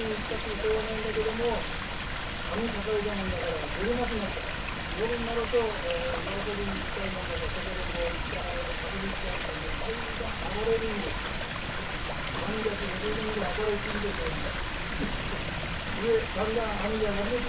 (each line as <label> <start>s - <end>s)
streams 0.0s - 17.4s